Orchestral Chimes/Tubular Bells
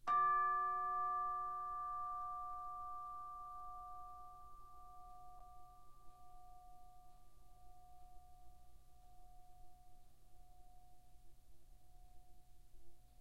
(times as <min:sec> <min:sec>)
0:00.1 0:04.4